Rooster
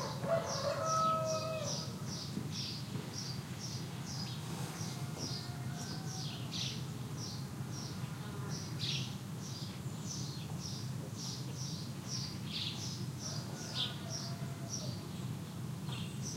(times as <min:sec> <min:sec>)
0:00.0 0:01.9, 0:04.8 0:06.6, 0:13.2 0:15.1